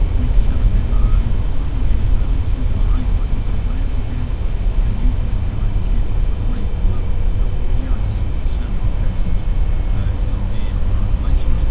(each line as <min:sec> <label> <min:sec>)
0:00.0 AM radio vocal snippets 0:11.7
0:00.0 cicadas 0:11.7
0:00.0 crickets 0:11.7